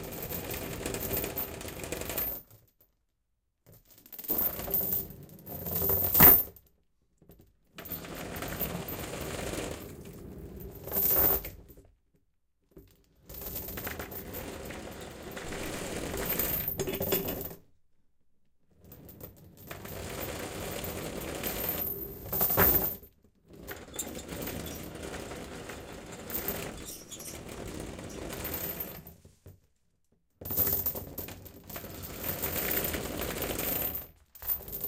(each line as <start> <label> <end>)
0.0 heavy chain being drug around on a linoleum floor 3.0
3.6 heavy chain being drug around on a linoleum floor 11.9
12.8 heavy chain being drug around on a linoleum floor 17.6
18.7 heavy chain being drug around on a linoleum floor 29.6
26.8 squeak 27.4
30.4 heavy chain being drug around on a linoleum floor 34.8